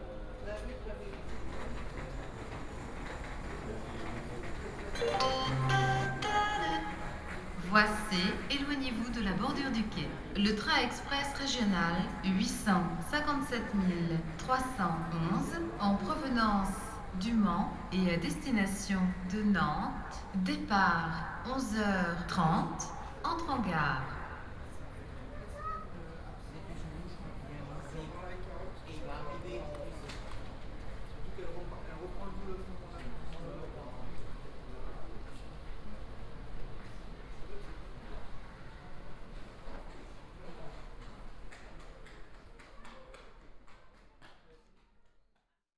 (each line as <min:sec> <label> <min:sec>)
0:00.0 Railway platform announcement 0:25.3